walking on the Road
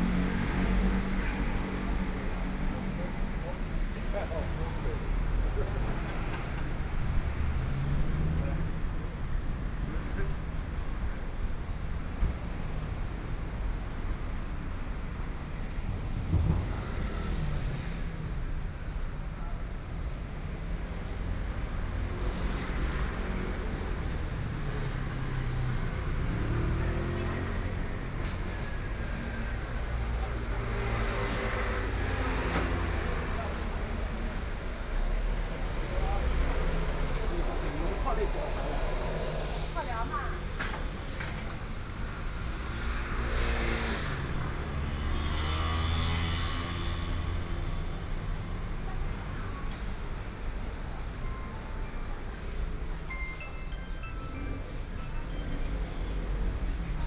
23.2s 57.0s

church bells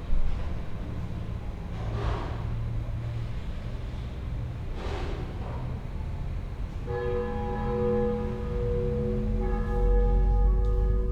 6.9s 11.1s

